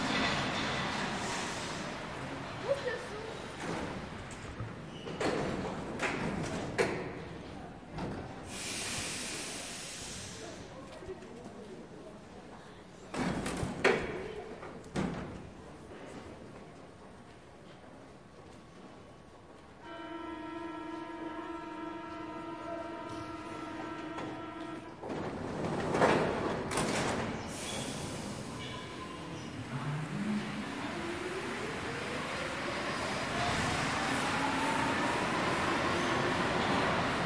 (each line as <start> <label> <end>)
0.0 metro train arrives 13.1
14.1 metro train arrives 37.2